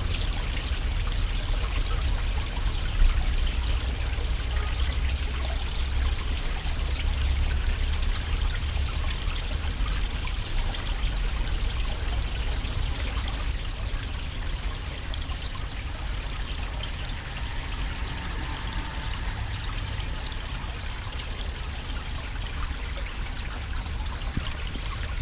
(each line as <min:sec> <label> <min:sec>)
0:14.8 flugzeuge 0:22.9